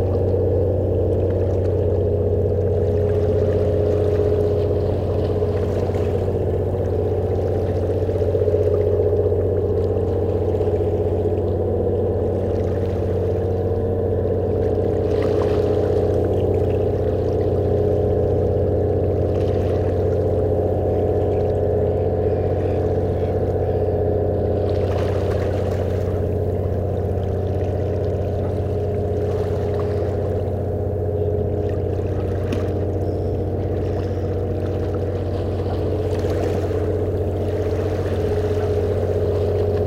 Ferry leaving the harbour 0:00.0 - 0:39.8

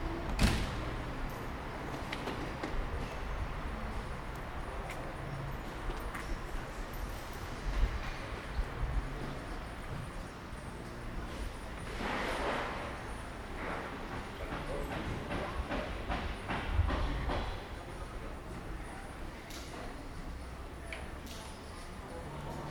street cleaning machine 0:09.2 - 0:15.3

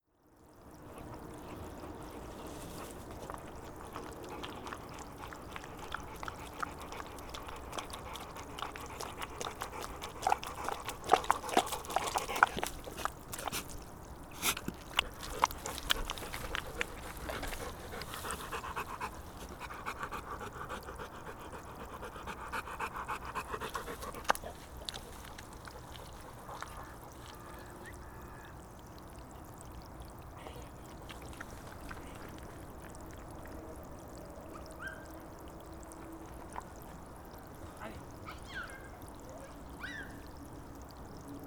Mud sound 0:01.0 - 0:21.4

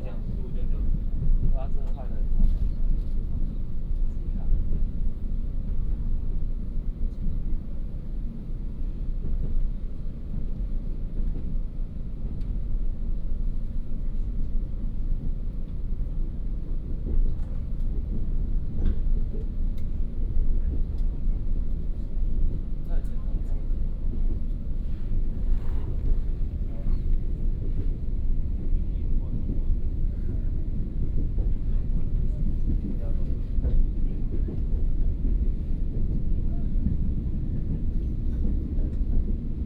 Train compartment 0:00.0 - 0:39.6
Messages broadcast vehicle interior 0:24.6 - 0:27.4

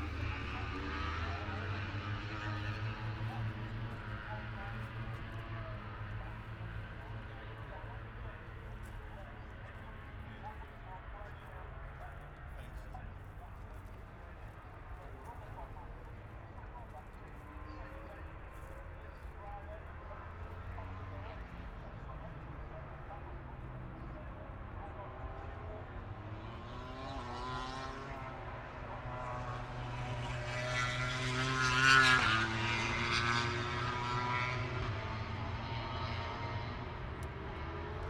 helicopters 0:00.0 - 0:30.3
moto grand prix 0:00.0 - 0:38.0

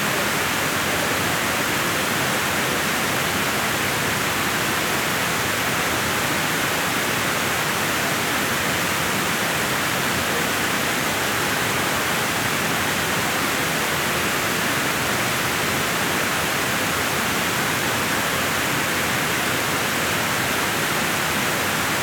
Waterfall 0:00.0 - 0:22.0

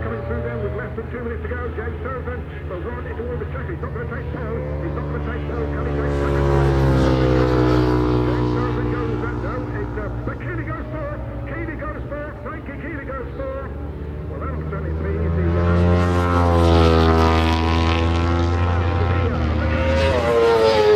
World Superbikes 2003 ... Qualifying 0:00.0 - 0:20.9

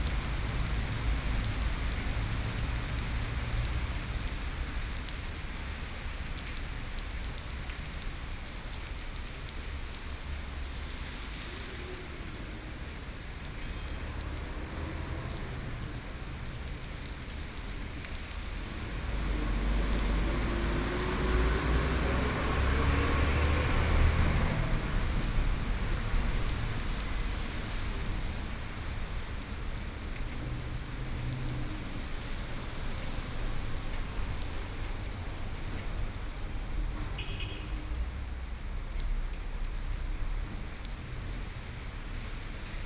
Rainy Day 0:00.0 - 0:42.8
traffic soundst 0:08.9 - 0:42.8

